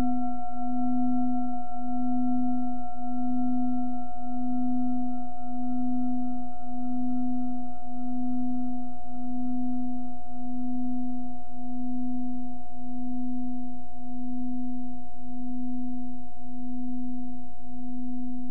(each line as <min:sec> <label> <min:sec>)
0:00.0 bowl 0:18.5